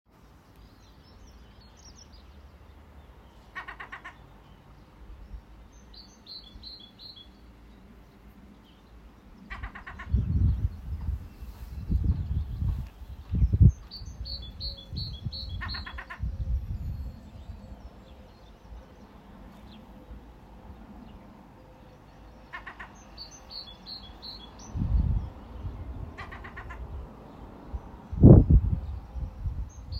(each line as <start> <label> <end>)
0.2 birds chirping 29.9
3.6 Seagull 4.2
22.5 Seagull 23.0
26.2 Seagull 26.8